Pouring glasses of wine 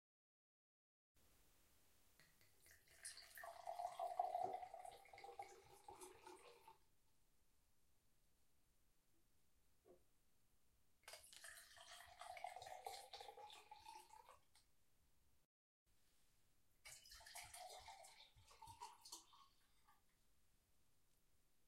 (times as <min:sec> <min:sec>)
0:02.2 0:06.8, 0:11.1 0:14.7, 0:16.8 0:20.2